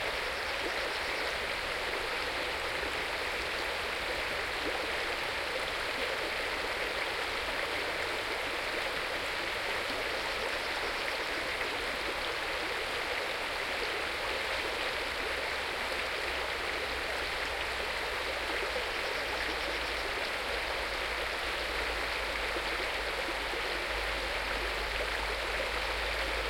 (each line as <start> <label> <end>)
0.0 mountain stream 26.4